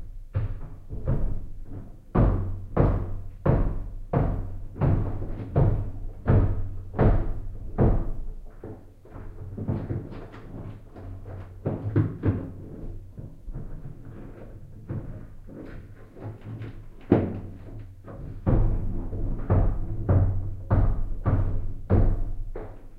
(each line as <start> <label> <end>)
0.0 upstairs neighbors stomping 22.9